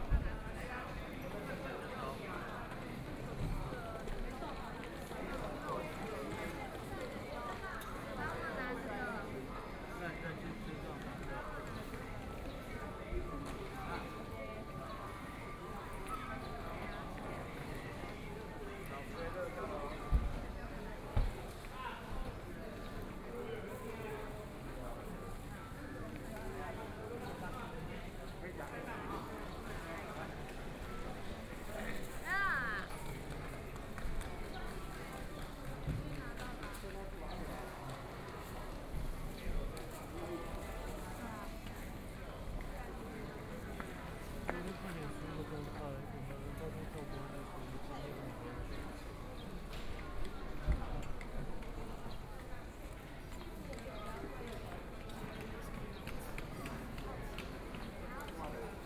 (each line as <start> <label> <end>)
0.0 Travelers to and from the Station hall 58.8